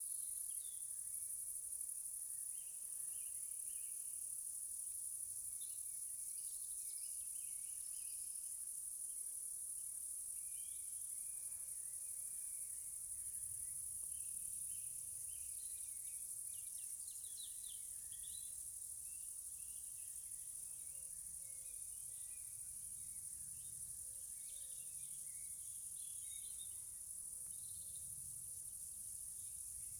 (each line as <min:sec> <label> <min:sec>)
0:00.0 cicadas 0:29.9
0:00.0 crickets 0:29.9
0:10.4 Birds in the background 0:29.9